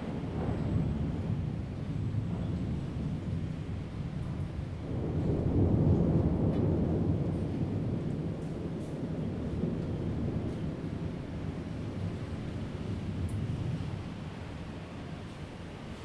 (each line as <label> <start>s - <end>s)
thunderstorm 0.0s - 16.0s